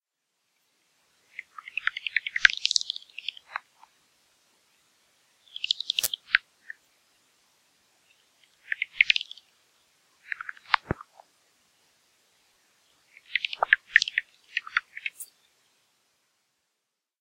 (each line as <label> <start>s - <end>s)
Bats 5.4s - 6.8s
Bats 13.1s - 15.3s